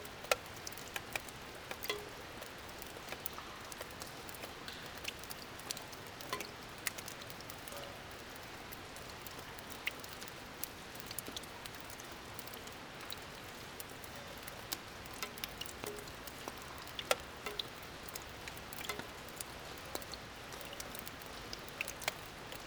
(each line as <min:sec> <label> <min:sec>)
0:00.0 rain onto the gigantic roofs of an abandoned factory 0:22.6